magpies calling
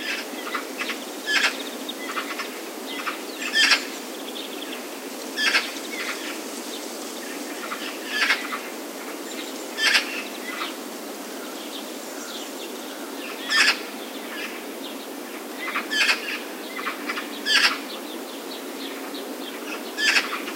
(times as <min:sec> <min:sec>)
0:00.0 0:06.4, 0:07.4 0:10.8, 0:12.1 0:14.7, 0:15.6 0:17.9, 0:19.6 0:20.5